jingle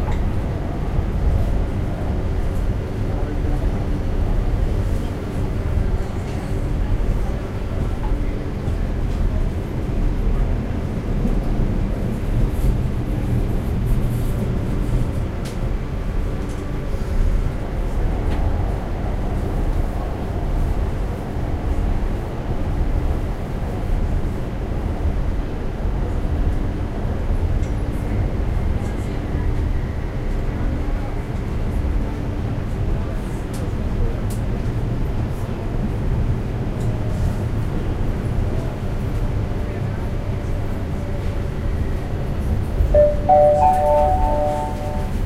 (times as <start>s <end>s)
43.0s 45.2s